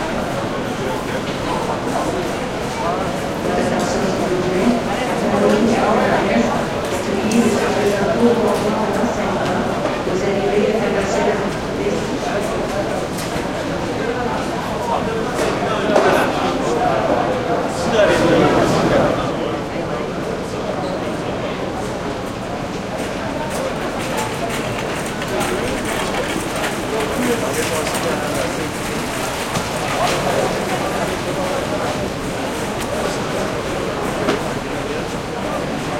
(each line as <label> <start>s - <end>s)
voices quebecois 0.0s - 22.0s